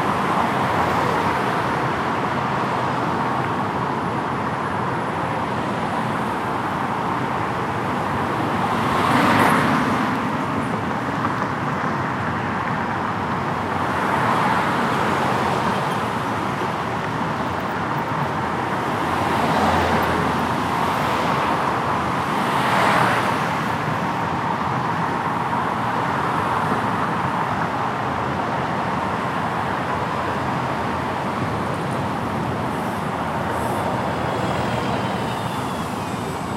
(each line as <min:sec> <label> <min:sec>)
0:00.0 Traffic tunnel 0:36.5